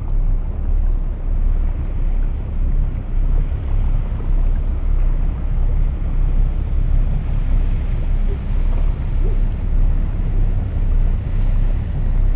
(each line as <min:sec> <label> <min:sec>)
0:00.0 boat is passing by on the Seine river 0:12.3